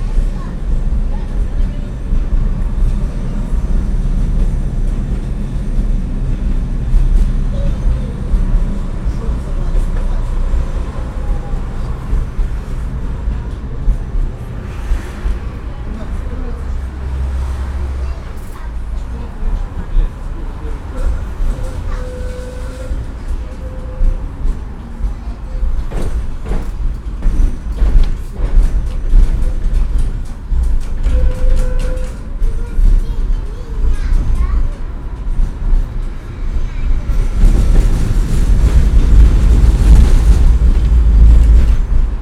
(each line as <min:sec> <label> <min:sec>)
0:00.0 Tram ride 0:42.2